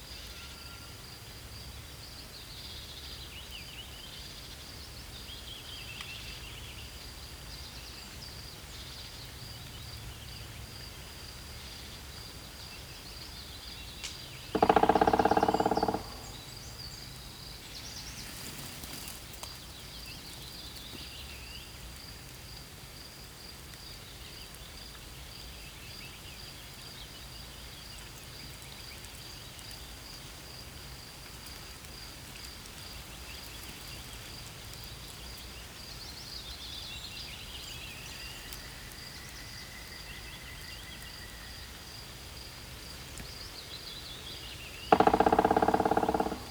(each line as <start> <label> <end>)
0.0 fresh breeze that constantly fluttered the leaves 46.5
14.6 Black Woodpecker hammers at the top of a dead tree 16.8
44.9 Black Woodpecker hammers at the top of a dead tree 46.5